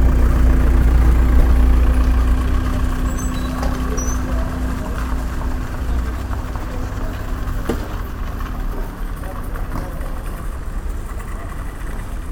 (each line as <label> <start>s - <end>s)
dofferent kind of wheel traffic passing by 0.0s - 12.3s